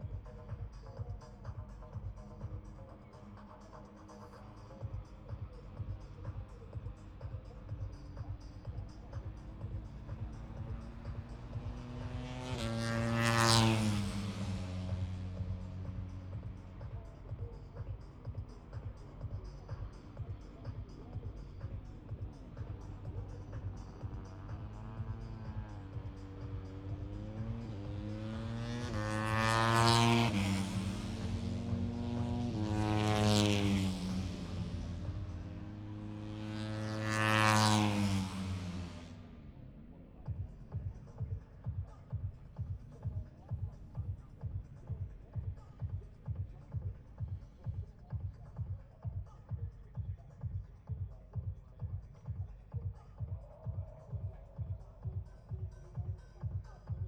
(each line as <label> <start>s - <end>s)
moto three 0.0s - 57.0s
disco 40.1s - 57.0s